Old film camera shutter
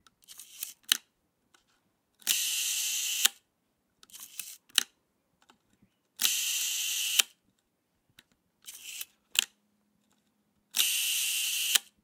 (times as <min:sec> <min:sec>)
0:00.2 0:01.0, 0:02.2 0:03.4, 0:04.1 0:04.9, 0:06.2 0:07.4, 0:08.6 0:09.6, 0:10.7 0:12.0